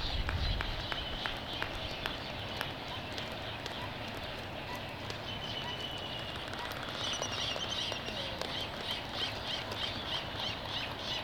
black-footed albatross 0:02.5 - 0:11.2
laysan albatross 0:02.6 - 0:11.2

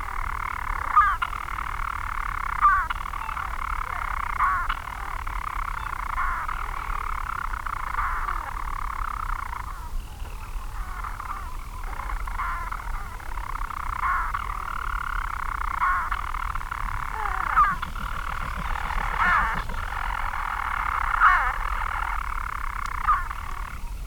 manx shearwaters 0:02.4 - 0:24.0
storm petrel singing 0:16.7 - 0:23.3

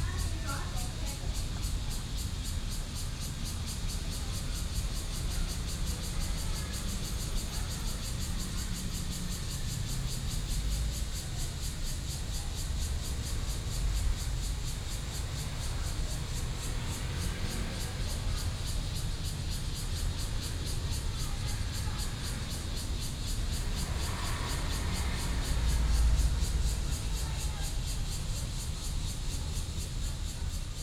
Cicadas sound 0:00.0 - 0:30.8
Traffic Sound 0:00.0 - 0:30.8
MRT train passes 0:00.1 - 0:30.8

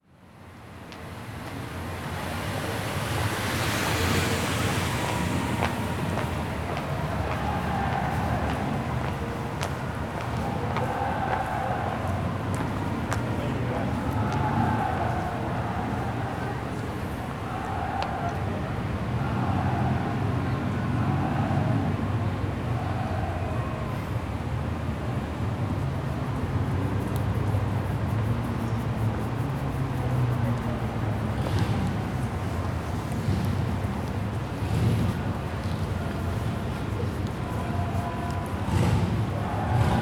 tram rattles on a bridge above 0:01.8 - 0:40.0
cheering cry of visiting soccer fans 0:02.2 - 0:40.0

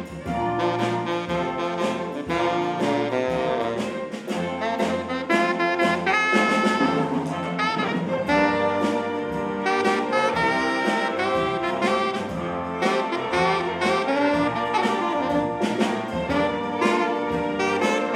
Orchestre 0:00.0 - 0:18.1

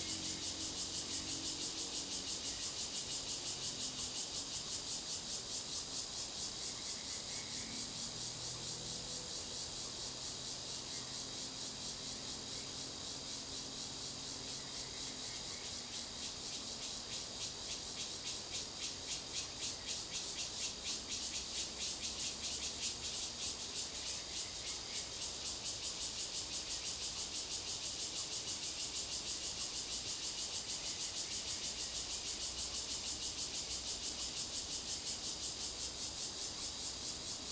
Cicadas cry 0:00.0 - 0:37.5

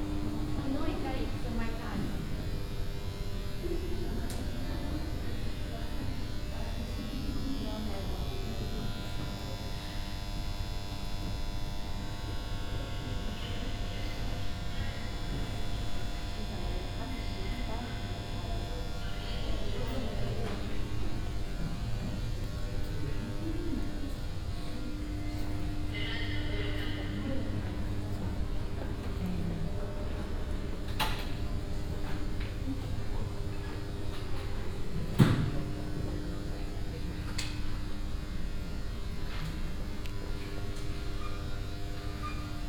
buzzing fluorescent lamps 0:00.0 - 0:42.6

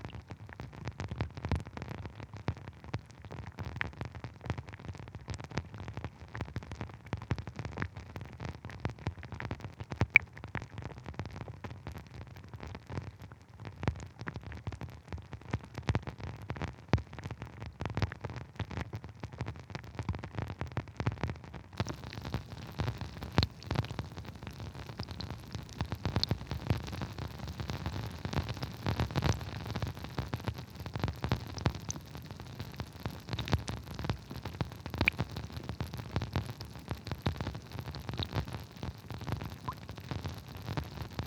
Drips landing in the river 0:21.8 - 0:29.4

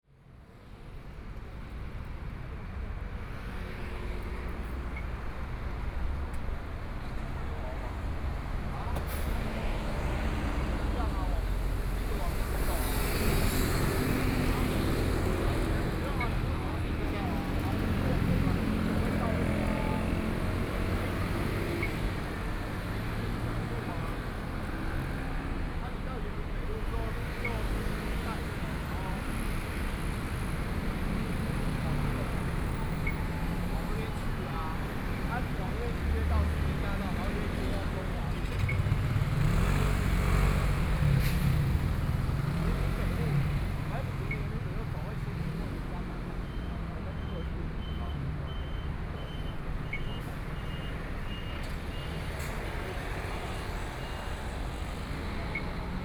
Pedestrian 0:00.1 - 0:56.0
Traffic Sound 0:00.2 - 0:56.0
Motorcycle sound 0:38.0 - 0:43.9

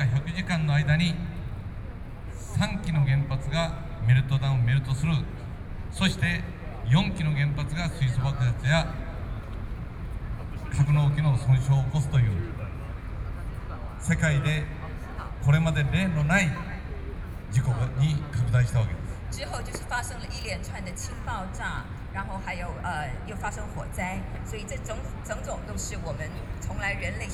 Speech 0:06.0 - 0:09.1
Speech 0:10.2 - 0:27.3

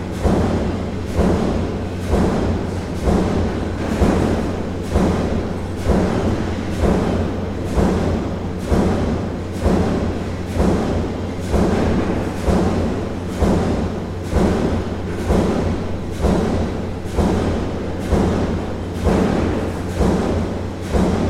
Steel press in action 0:00.0 - 0:21.2

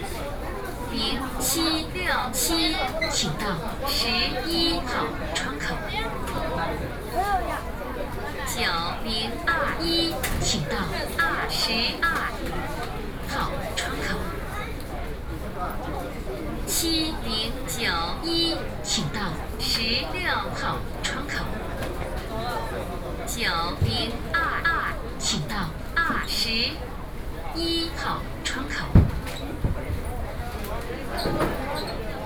Counter broadcasting 0:00.9 - 0:06.1
Counter broadcasting 0:08.5 - 0:14.4
Counter broadcasting 0:16.7 - 0:21.6
Counter broadcasting 0:23.3 - 0:26.9
Counter broadcasting 0:27.5 - 0:29.2

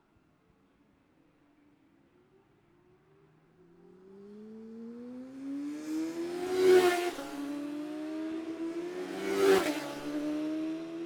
classic superbikes 0:03.8 - 0:11.0

